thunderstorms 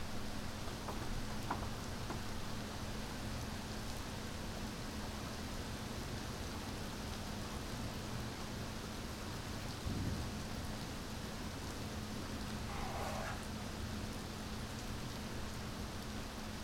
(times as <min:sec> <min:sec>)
0:09.8 0:10.8